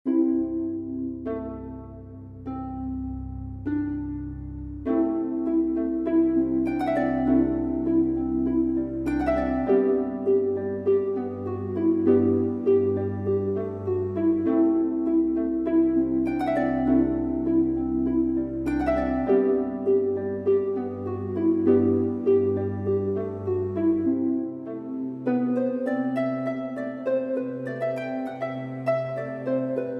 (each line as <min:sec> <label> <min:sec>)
0:00.1 ambient-music 0:29.9